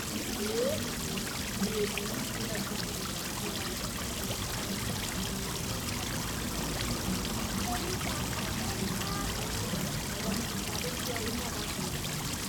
children 0:00.0 - 0:02.7
indian fountain 0:00.0 - 0:12.4
children 0:07.2 - 0:12.0

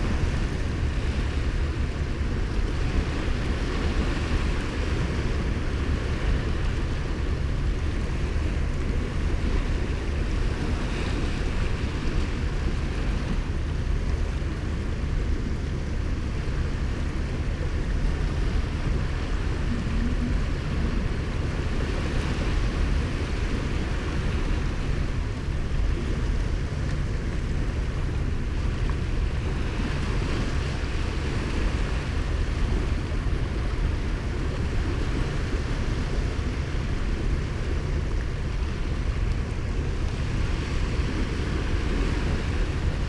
sea 0:00.0 - 0:43.0

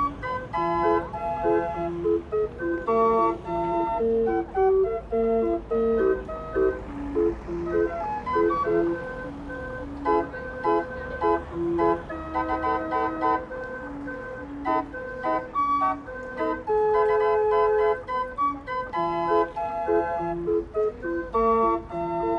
busy street 0:00.0 - 0:22.3

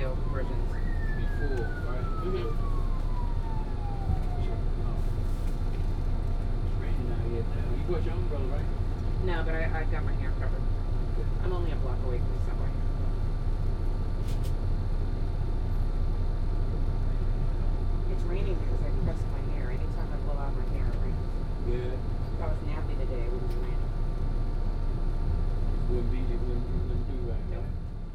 bus ride 0:00.0 - 0:28.1

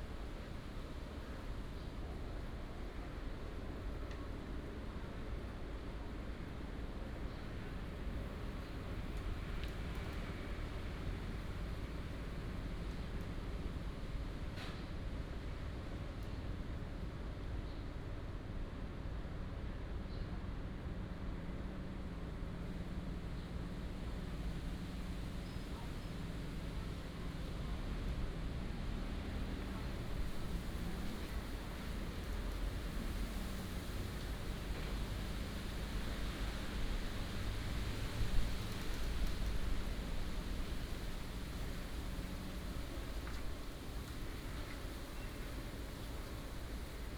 wind and Leaves 0:22.4 - 0:47.1

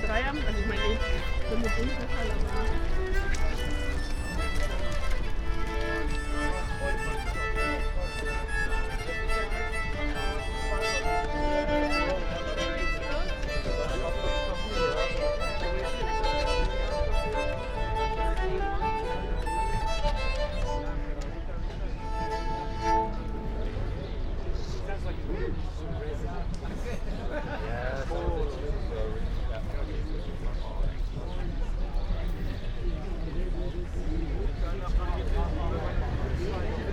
busker with an ancient instrument 0:00.0 - 0:36.9

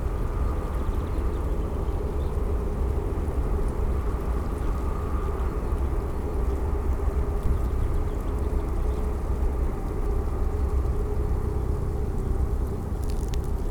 helicopter 0:00.0 - 0:13.7

